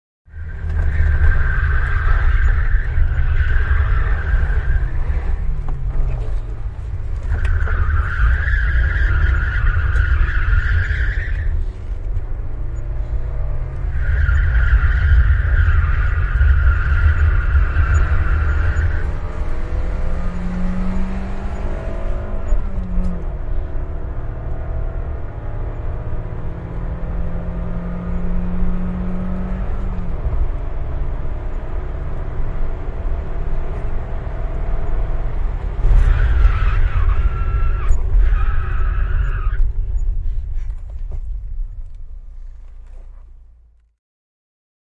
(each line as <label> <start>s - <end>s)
brakes with tyres screeching 0.3s - 43.8s
fast driving on asphalt 0.3s - 44.0s
tyres screeching 35.8s - 40.1s